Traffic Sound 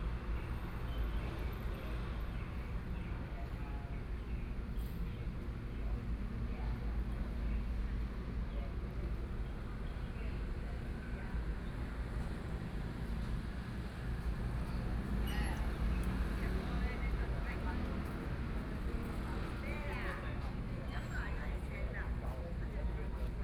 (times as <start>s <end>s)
11.5s 22.2s